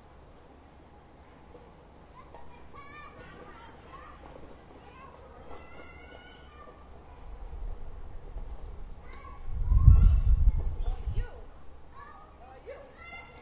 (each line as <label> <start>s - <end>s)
Kids playing nearby 0.4s - 13.4s
slight wind mic noise 7.1s - 12.0s